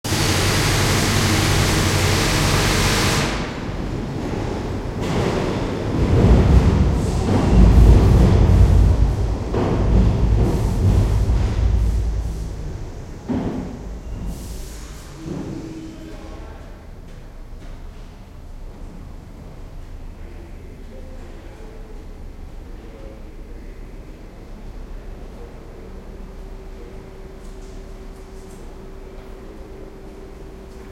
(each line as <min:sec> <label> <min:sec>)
0:00.1 drilling 0:03.4
0:00.1 subway tunnel train pass overhead 0:30.9